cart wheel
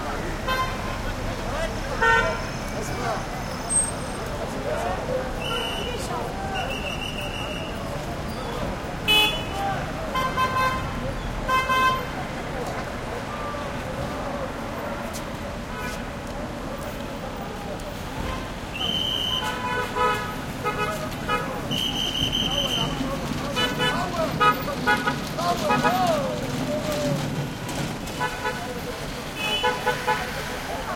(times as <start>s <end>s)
21.8s 28.9s